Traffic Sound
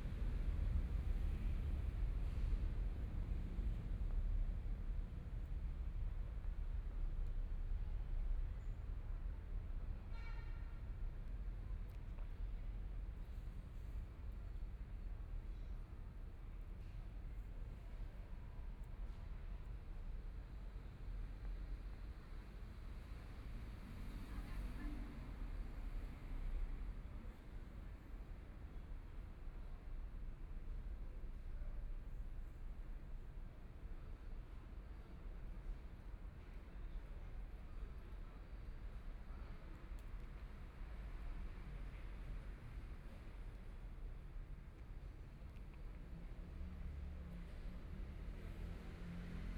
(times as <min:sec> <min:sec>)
0:44.7 0:49.5